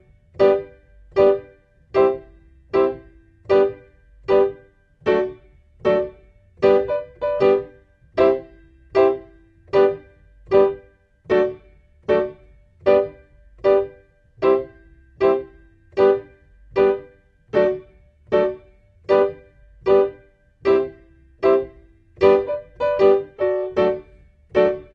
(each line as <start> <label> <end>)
0.0 PIANO 24.9